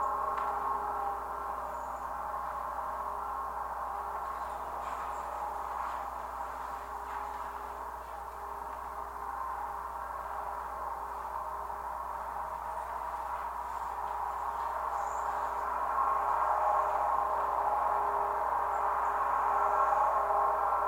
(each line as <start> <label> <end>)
0.0 Traffic noise 20.8
0.0 wind 20.8
4.2 leaves scratching the surface of the pole 8.9